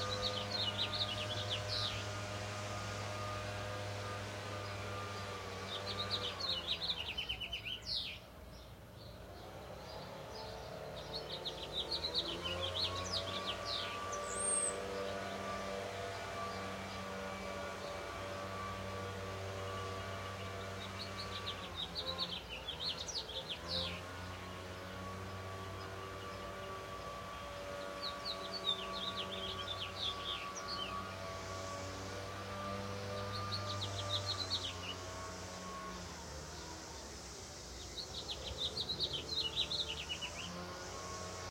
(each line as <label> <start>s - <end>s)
Leafblower 0.0s - 8.3s
Birds 0.0s - 41.5s
Leafblower 9.0s - 41.5s